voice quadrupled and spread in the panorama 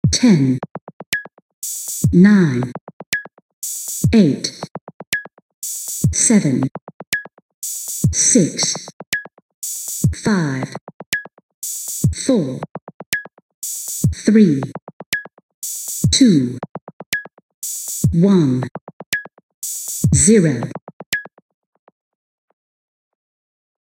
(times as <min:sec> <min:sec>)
0:00.1 0:00.6, 0:06.2 0:06.7, 0:10.1 0:10.8, 0:12.2 0:12.6